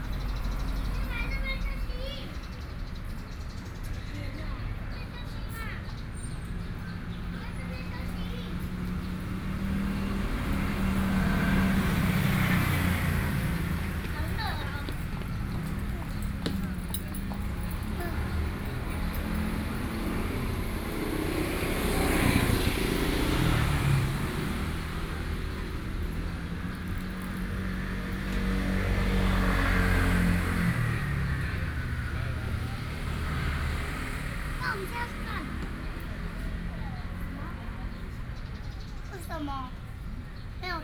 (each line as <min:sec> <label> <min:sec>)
0:00.6 Mother and child 0:03.0
0:07.0 Mother and child 0:09.3
0:10.5 Mother and child 0:20.3
0:34.0 Mother and child 0:40.8